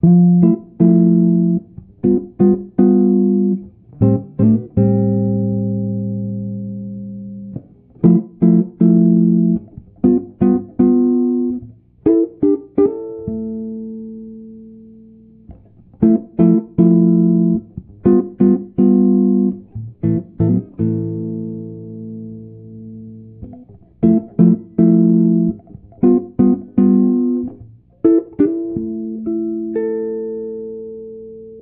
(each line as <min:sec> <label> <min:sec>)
0:00.0 guitar 0:31.6